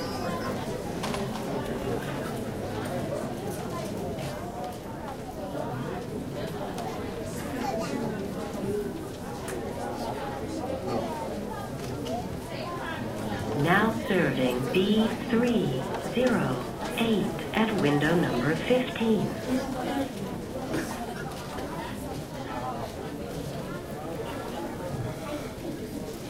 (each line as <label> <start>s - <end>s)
number to be called 13.5s - 19.6s